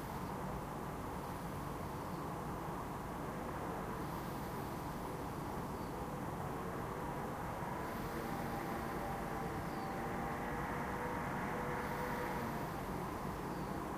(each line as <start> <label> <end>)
0.0 usual urban noise at night 13.9
7.5 scooter is approaching 13.8